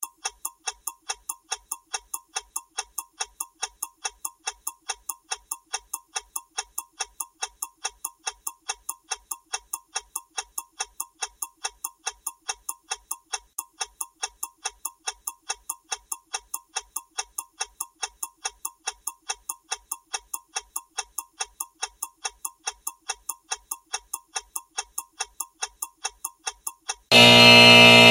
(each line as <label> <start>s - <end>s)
buzzer 27.1s - 28.1s